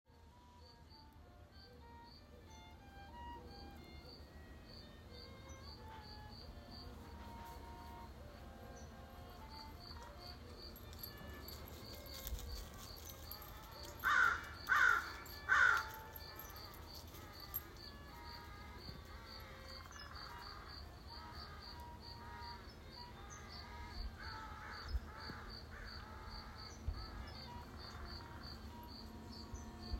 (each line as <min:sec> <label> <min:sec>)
0:00.2 playing violin 0:29.9
0:13.8 woodpecker 0:16.6
0:14.0 crows 0:15.9
0:24.2 crows 0:26.8